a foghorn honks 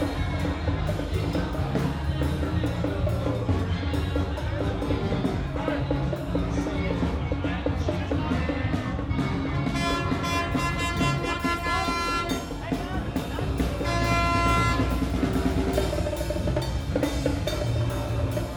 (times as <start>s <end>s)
9.7s 12.6s, 13.8s 15.2s